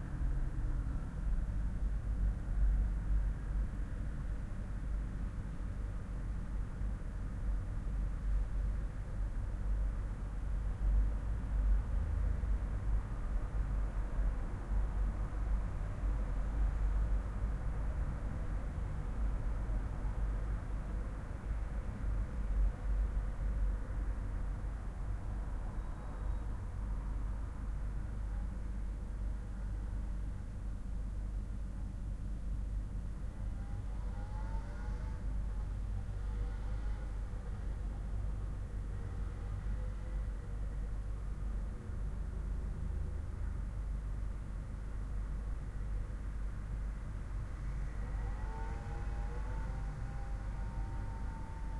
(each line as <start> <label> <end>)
0.0 Traffic 51.7